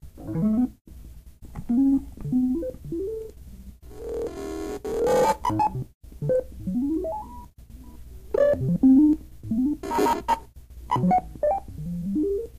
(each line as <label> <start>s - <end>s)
Computer Noises Creep 3.9s - 7.5s
Computer Noises Creep 8.3s - 12.5s